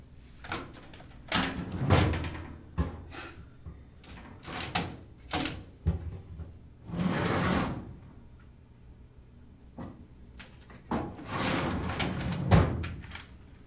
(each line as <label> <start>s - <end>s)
file cabinet metal open close drawer 0.5s - 2.6s
file cabinet metal open close drawer 6.9s - 7.9s
file cabinet metal open close drawer 10.9s - 13.2s